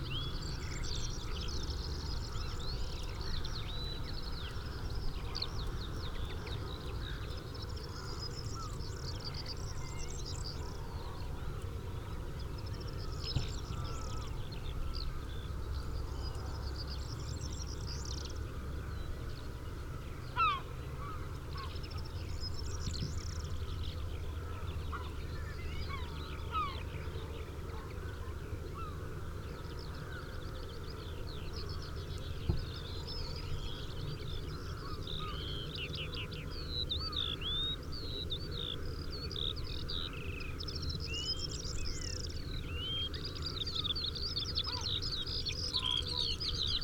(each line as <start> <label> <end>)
43.0 red-legged partridge 46.8